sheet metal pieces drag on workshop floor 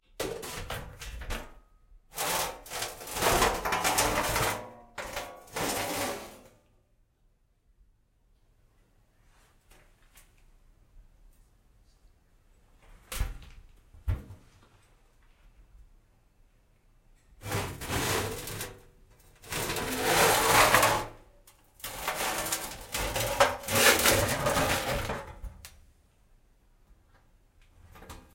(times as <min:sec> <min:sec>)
0:02.1 0:06.6, 0:17.4 0:25.5